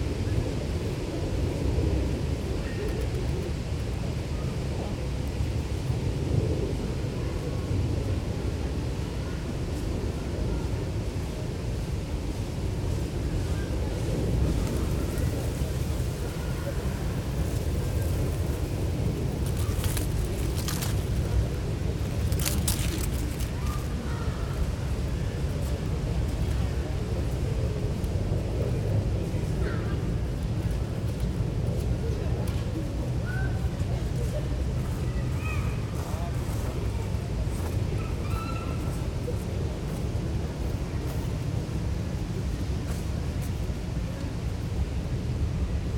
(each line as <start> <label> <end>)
0.0 city sounds filtering into the park 45.9